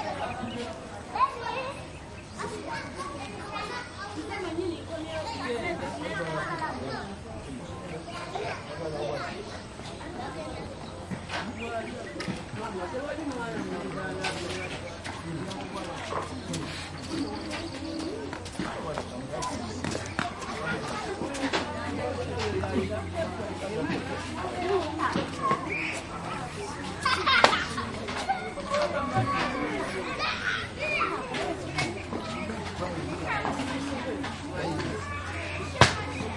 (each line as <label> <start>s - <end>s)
voices 0.0s - 36.3s
steps 11.0s - 36.3s